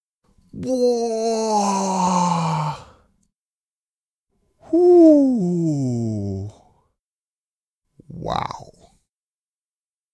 voice 0:04.7 - 0:06.6
voice 0:08.1 - 0:08.9

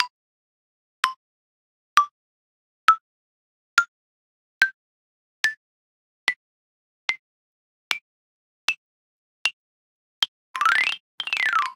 small wooden xylophone sounds 0:10.6 - 0:11.7

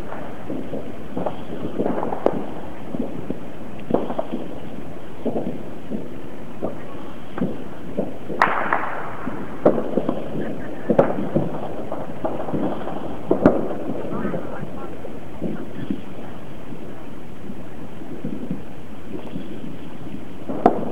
explosion 0:00.0 - 0:20.9
fireworks 0:00.0 - 0:20.9
shot 0:07.4 - 0:14.0
shot 0:20.5 - 0:20.9

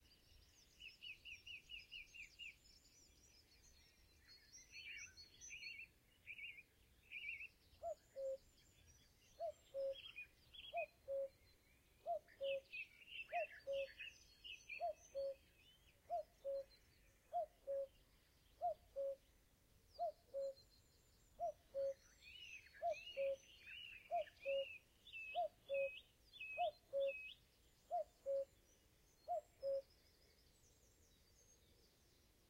Cuckoo 0:07.8 - 0:08.5
Cuckoo 0:09.4 - 0:11.4
Cuckoo 0:12.0 - 0:14.1
Cuckoo 0:14.8 - 0:15.5
Cuckoo 0:16.1 - 0:18.0
Cuckoo 0:18.6 - 0:19.2
Cuckoo 0:20.0 - 0:20.6
Cuckoo 0:21.4 - 0:28.6
Cuckoo 0:29.2 - 0:29.9

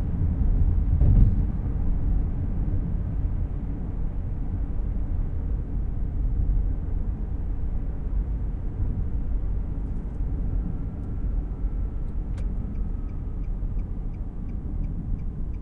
cross-traffic 0:00.0 - 0:15.6
Bridge bump 0:00.9 - 0:01.5
Turn signal 0:12.0 - 0:15.6

